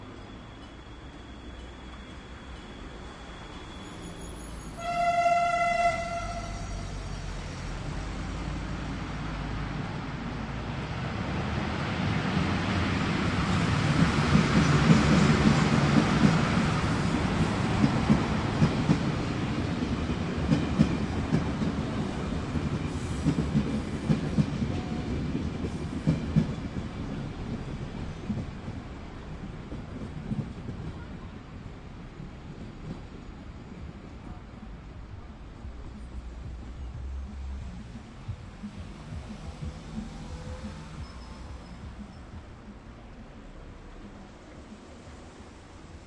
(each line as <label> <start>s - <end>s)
train is coming 0.0s - 46.0s
cars 31.8s - 46.0s